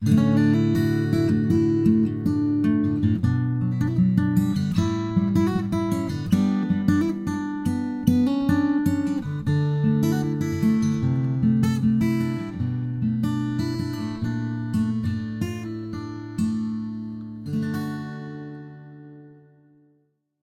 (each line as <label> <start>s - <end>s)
Guitar playing 0.0s - 20.0s